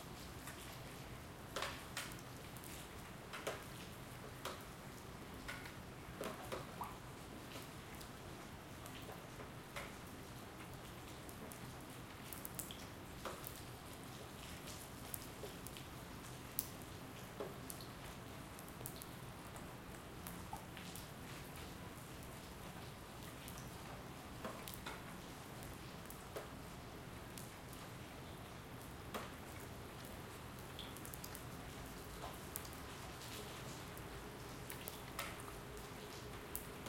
0.0s rain drops 36.8s

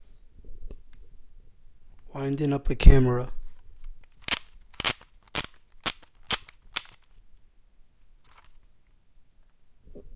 4.0s Winding up a disposable Camera 7.1s
8.2s Winding up a disposable Camera 8.6s

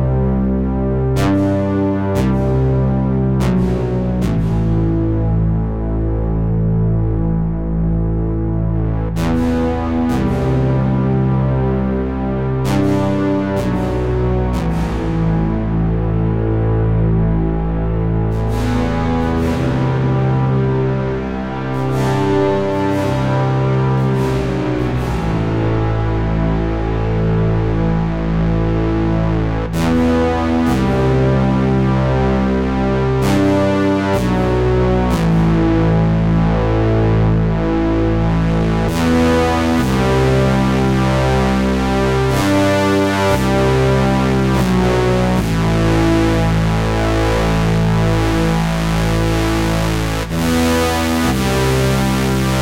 0.0s synthesizer with filter and reverb 52.6s

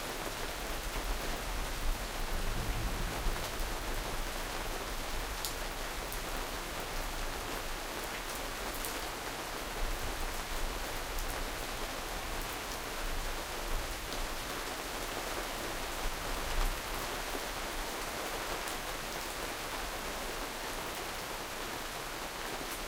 0.0s rain 22.8s
2.3s thunder 4.2s

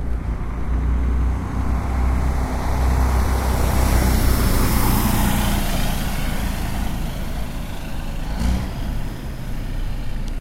0.0s semi truck without a trailer was passing by 10.4s

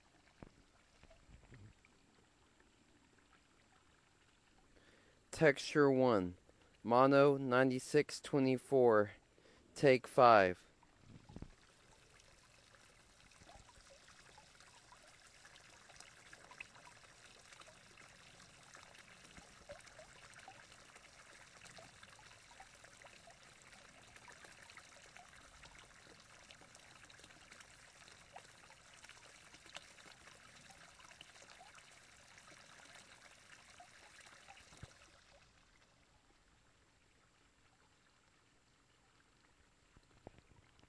4.7s Tiny but lovely waterfall 5.3s

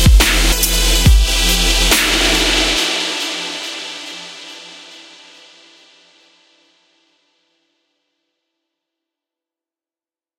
0.0s hats 3.7s
0.0s bass 4.8s
0.1s snare 1.1s
1.9s snare 2.9s

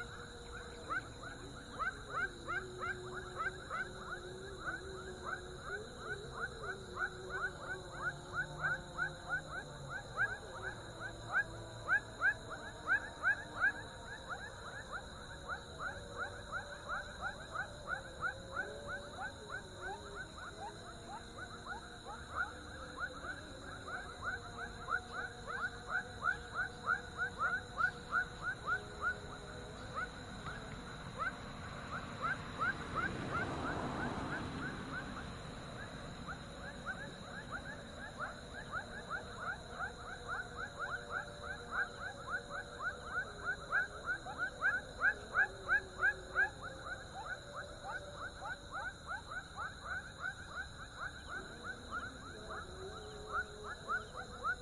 0.0s frogs 54.6s
0.0s prayer 54.6s
29.8s car 40.1s
30.0s airplane 38.8s

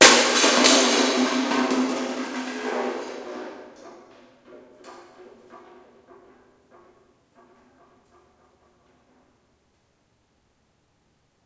0.0s Kicking empty paint can 3 5.8s

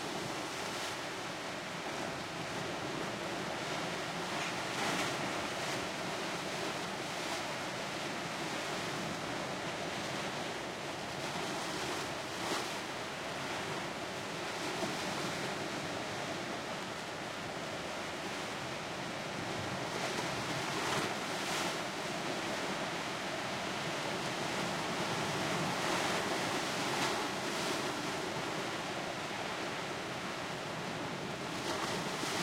19.4s Powerful Waves 32.4s

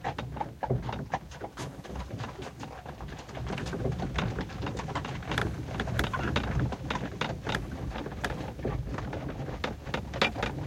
0.0s Horsewagon 10.6s

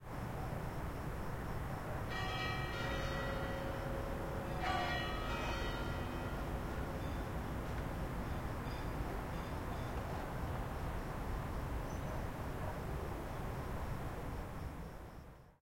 2.0s church bell 10.8s

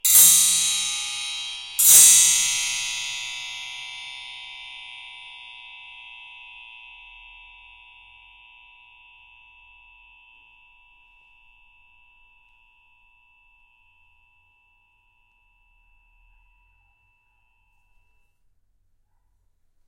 0.0s metal spring hit with a metal rod 5.2s

